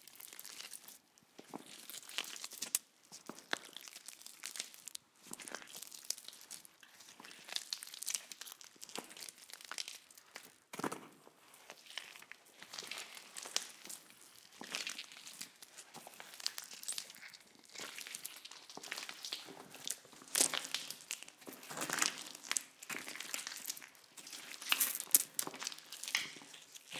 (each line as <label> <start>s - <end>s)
person walking into the catacombs with some water 11.6s - 26.9s